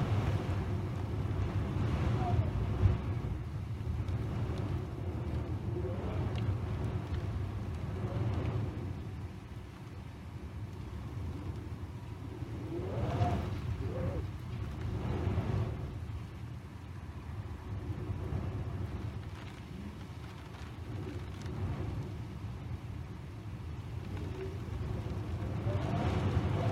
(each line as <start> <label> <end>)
0.0 rain 26.7
0.0 wind is gusty and is whistling through the gaps 26.7